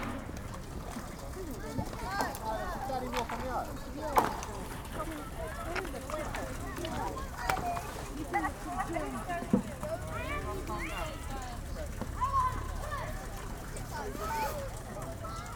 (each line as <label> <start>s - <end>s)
kids playing with the ice 0.0s - 15.5s